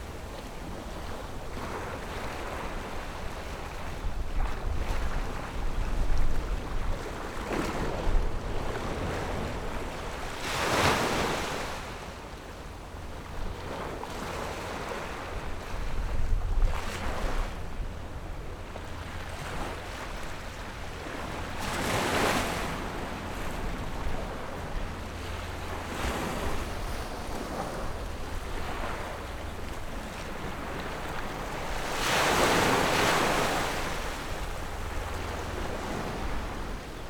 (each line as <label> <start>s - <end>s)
Tide 0.0s - 37.0s
Windy 25.4s - 37.0s